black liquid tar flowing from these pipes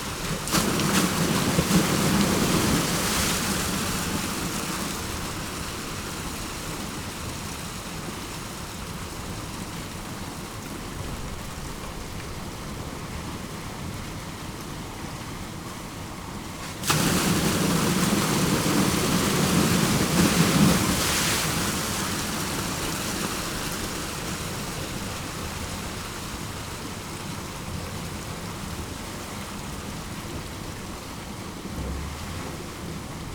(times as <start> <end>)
16.6 22.3